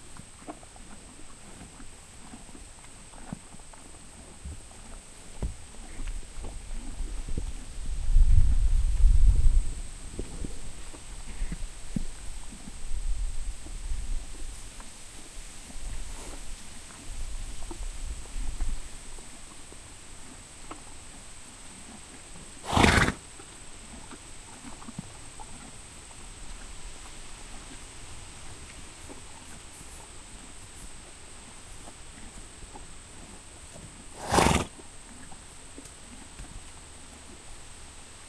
0.0s HORSE EATING GRASS 38.2s
5.4s wind noise 19.2s
22.6s snorts 23.2s
34.1s snorts 34.8s

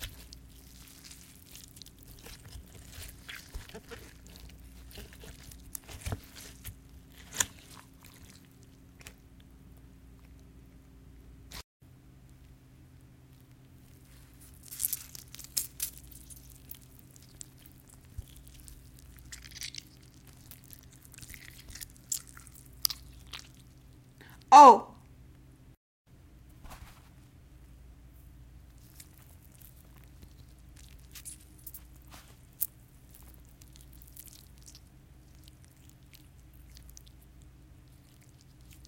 0.0s wet flesh being squeezed and gushing 9.2s
14.4s wet flesh being squeezed and gushing 23.8s
28.8s wet flesh being squeezed and gushing 38.8s

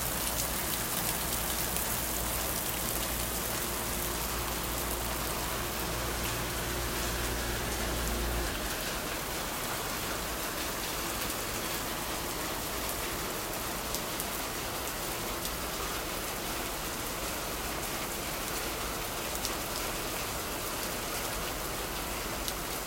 0.0s Raining near the porch 22.8s

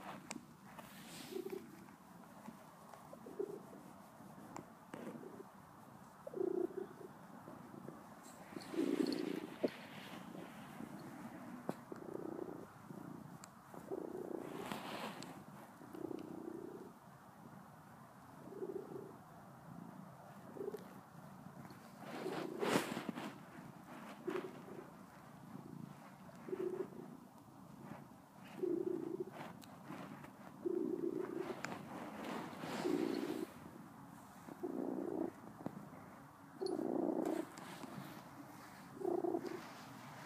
0.0s Cat Purr 17.6s
18.2s Cat Purr 40.2s

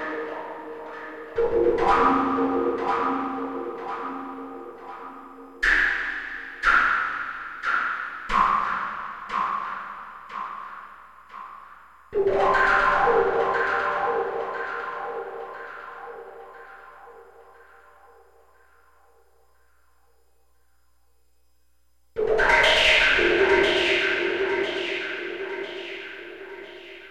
12.2s synthesiser 18.2s

